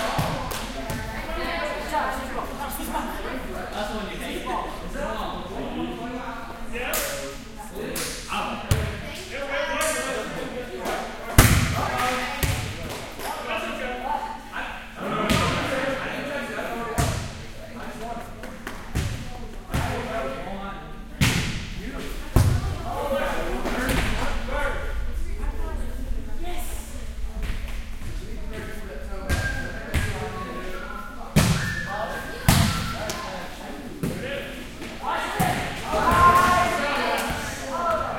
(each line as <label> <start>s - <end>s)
Volleyball Game 0.0s - 2.8s
Volleyball Game 6.8s - 25.1s
Volleyball Game 29.2s - 38.1s